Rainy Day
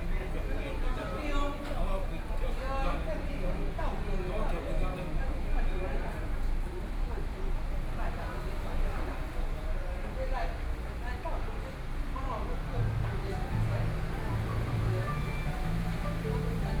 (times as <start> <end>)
12.8 16.8